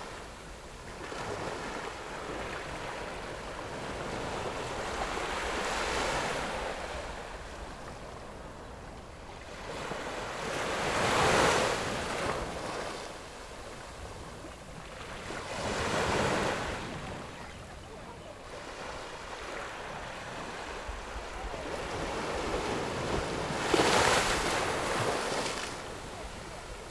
waves 0:00.0 - 0:26.9

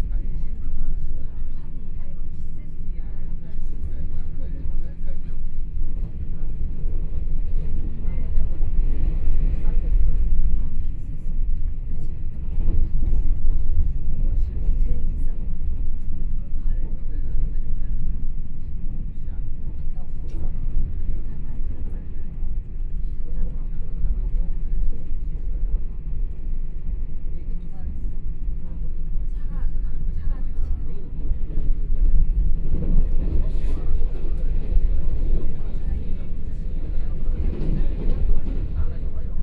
Tze-Chiang Train 0:00.0 - 0:39.4

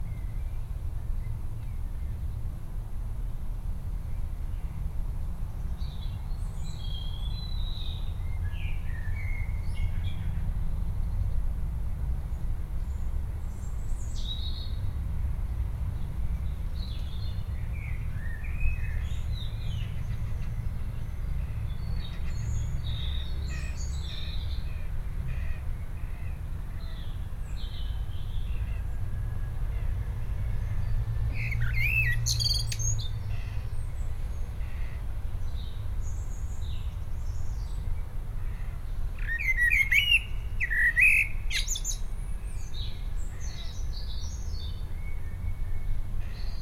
singing birds 0:05.6 - 0:10.4
singing birds 0:12.3 - 0:15.0
singing birds 0:15.9 - 0:46.6

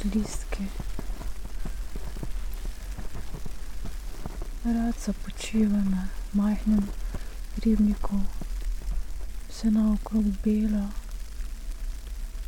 walk 0:00.0 - 0:09.4
snow 0:00.0 - 0:12.4
spoken words 0:09.5 - 0:11.0

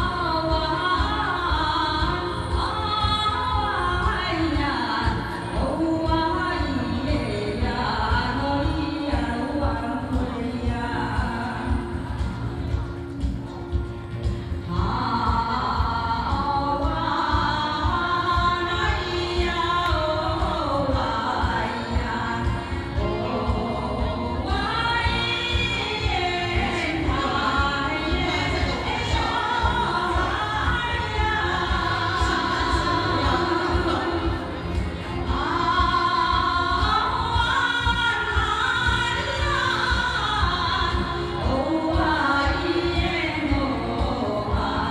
people participate in dancing 0:00.0 - 0:44.9

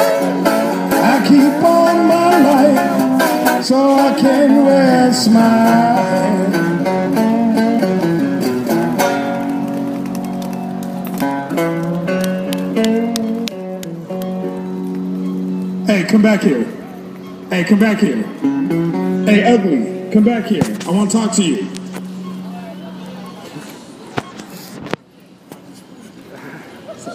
crosswalks 0:00.0 - 0:27.1
passersby 0:00.0 - 0:27.1
street musician wrapping up a song 0:00.0 - 0:27.1
traffic 0:00.0 - 0:27.1

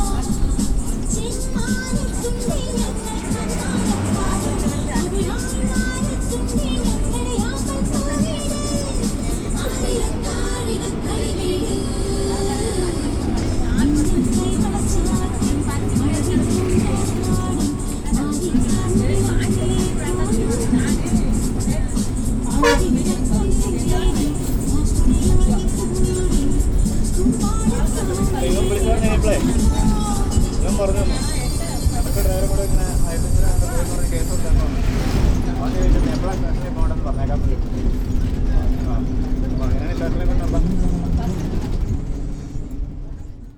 private bus with music 0:00.0 - 0:43.5

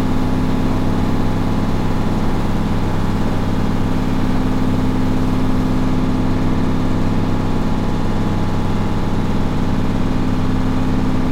washing machines operating 0:00.0 - 0:11.3

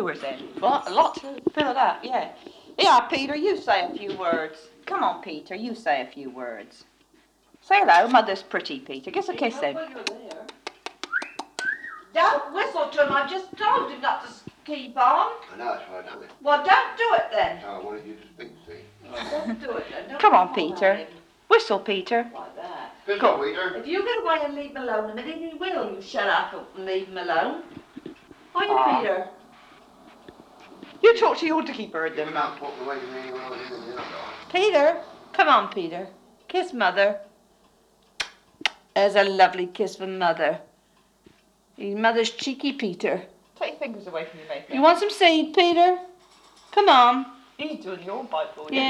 grand parents and great grand parents 0:00.0 - 0:10.9
grand parents and great grand parents 0:12.2 - 0:37.7

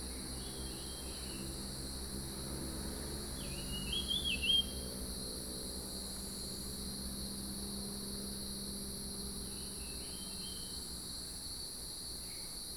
Cicadas cry 0:09.4 - 0:10.9

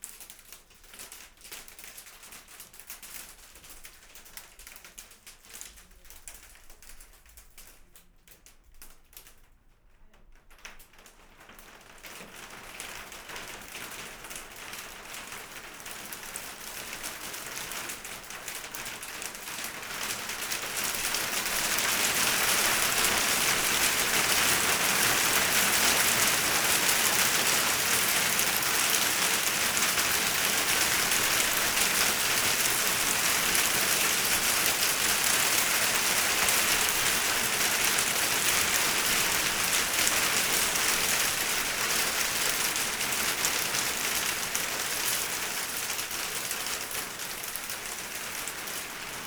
Hail falling on plastic roof 0:00.0 - 0:49.2

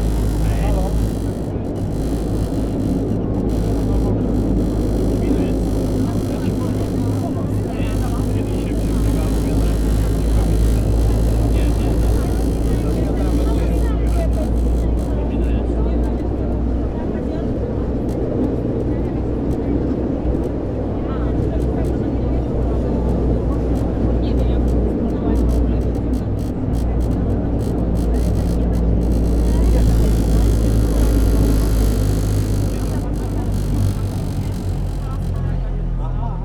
phone calls 0:00.0 - 0:15.3
conversations 0:00.0 - 0:36.4
most of its parts rattle, vibrate, grind and whine 0:00.0 - 0:36.4

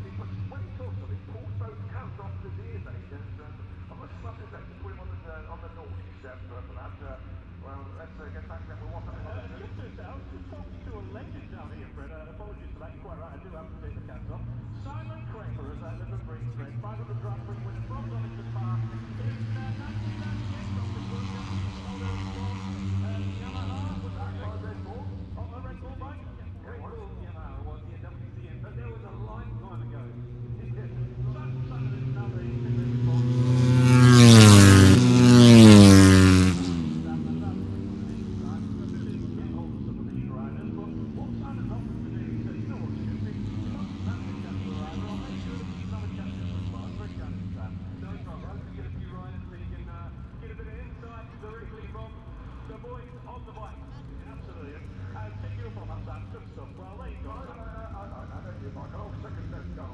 motorcycle grand prix 0:00.0 - 0:59.9

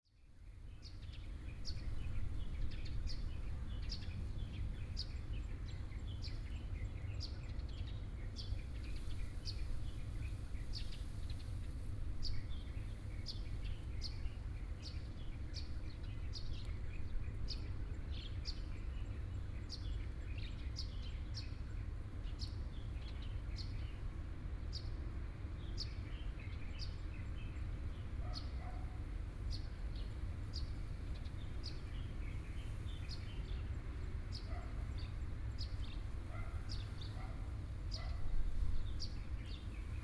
Birdsong 0:25.6 - 0:40.0

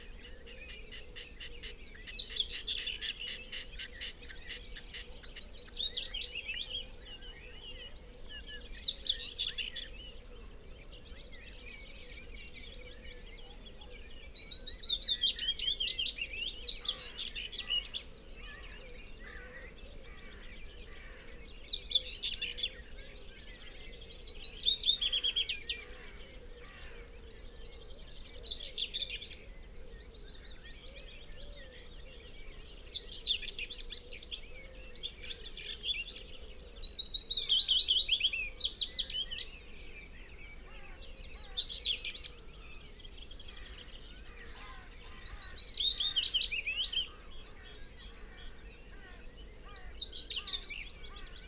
background noise 0:00.0 - 0:51.4
blackbird 0:00.0 - 0:51.4
pheasant 0:00.0 - 0:51.4
red -legged partridge 0:00.0 - 0:51.4
willow warbler song 0:00.0 - 0:51.4
crow 0:16.6 - 0:22.2
crow 0:24.9 - 0:30.0
crow 0:43.5 - 0:51.4

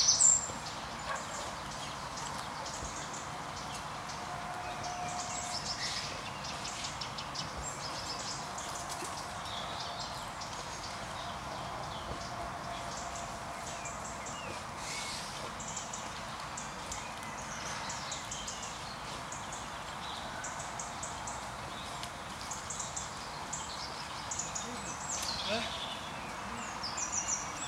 birds 0:00.0 - 0:27.6

